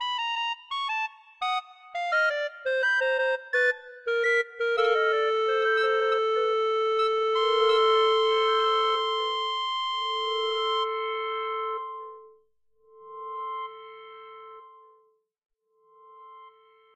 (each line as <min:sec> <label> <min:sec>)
0:00.0 clarinet 0:11.0